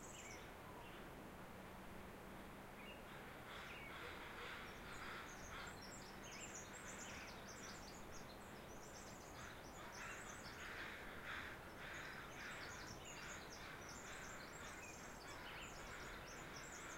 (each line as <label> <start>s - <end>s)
Songbirds 0.0s - 16.9s
Crows 3.1s - 5.9s
Crows 9.4s - 16.9s